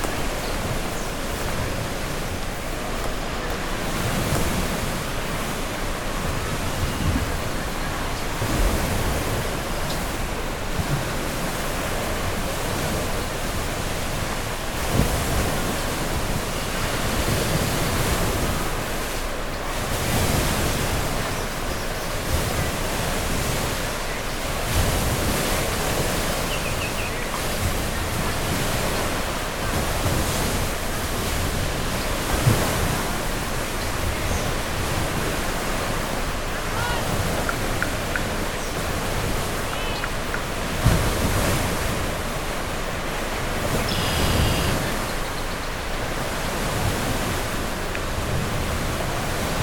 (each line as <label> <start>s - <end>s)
migrating birds 0.0s - 47.8s